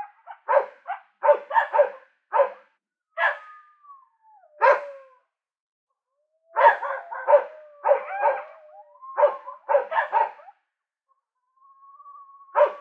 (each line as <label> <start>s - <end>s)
barking ranch dogs 0.0s - 3.5s
fairly close barking coyote 0.0s - 3.9s
fairly close barking coyote 4.5s - 5.0s
barking ranch dogs 4.6s - 5.0s
barking ranch dogs 6.5s - 10.6s
fairly close barking coyote 6.5s - 10.6s
fairly close barking coyote 11.6s - 12.8s
barking ranch dogs 12.5s - 12.8s